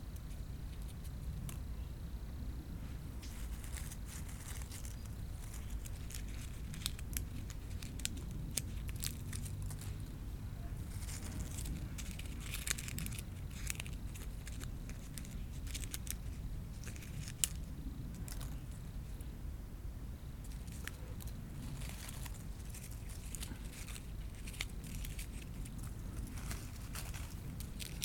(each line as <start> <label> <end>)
0.0 insectes dans la haie 28.0
2.8 Collecte de graines 19.4
20.4 travailleuse du jardin circule avec sa brouette 28.0
20.4 Collecte de graines 28.0